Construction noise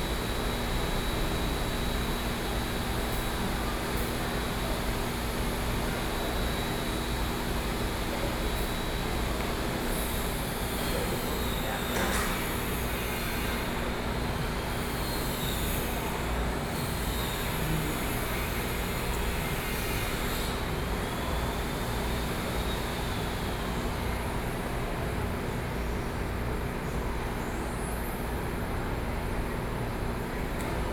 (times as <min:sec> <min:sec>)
0:00.2 0:24.2